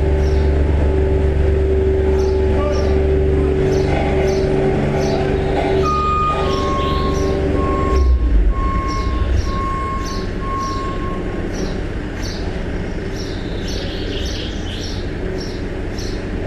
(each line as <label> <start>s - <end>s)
construction site 0.0s - 16.4s